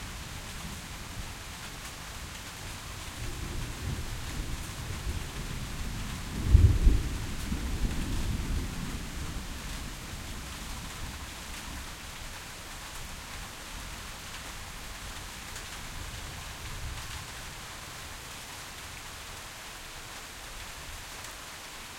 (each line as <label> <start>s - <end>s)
Rain on tin roof 0.0s - 21.9s
thunder 6.2s - 9.1s